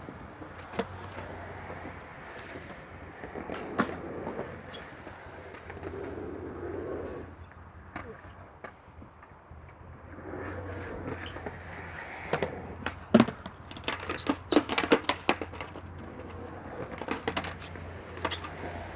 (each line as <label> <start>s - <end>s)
motor traffic 10.1s - 18.9s